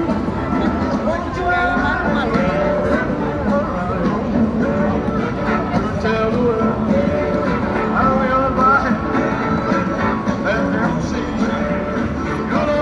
pedestrians, who smiled, commented 0.0 - 12.8

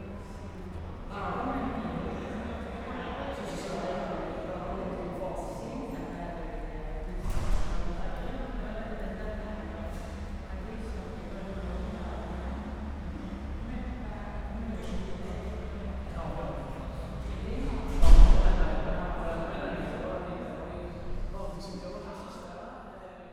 people talking 0.0 - 23.3

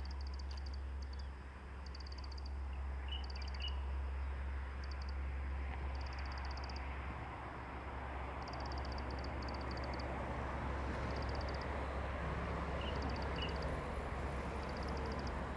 Traffic Sound 4.4 - 15.5

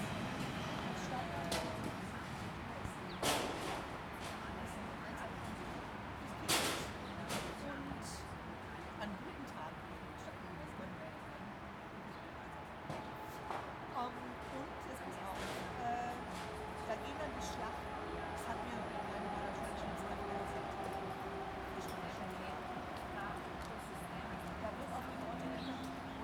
train passing 0.0 - 2.6
people are chatting 0.0 - 26.2
train passing 13.0 - 26.2

